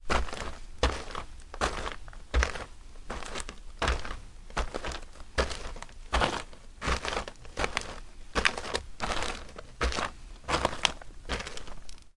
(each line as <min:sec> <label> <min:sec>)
0:00.0 footsteps on gravel 0:12.1